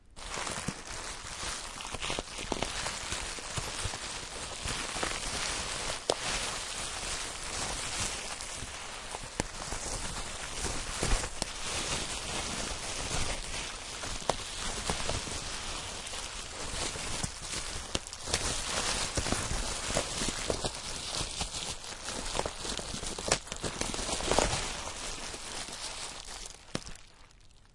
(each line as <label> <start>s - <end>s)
rustle.bub-Wrap 4 0.2s - 27.3s